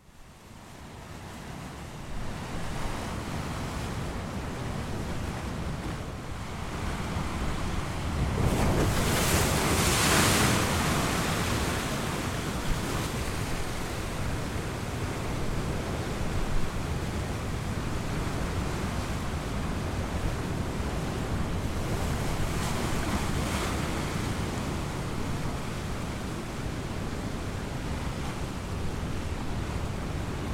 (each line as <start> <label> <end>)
0.0 waves 30.5